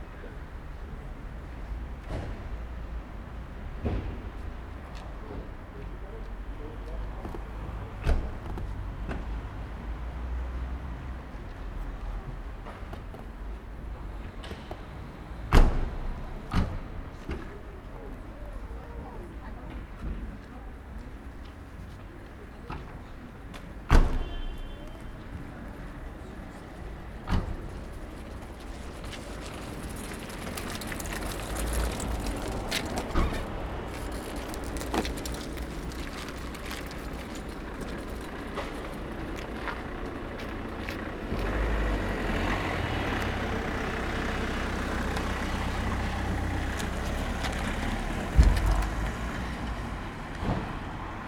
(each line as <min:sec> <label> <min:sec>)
0:00.0 Passing by cars 0:51.2
0:24.6 steps 0:41.7
0:27.7 bycicles 0:39.6
0:43.2 steps 0:50.8